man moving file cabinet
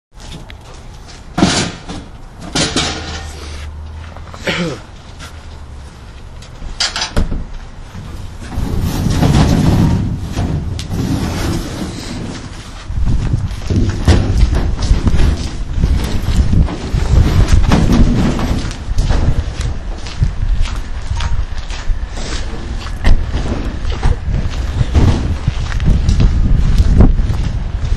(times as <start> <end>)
0.2 3.6, 6.5 20.0, 22.3 25.5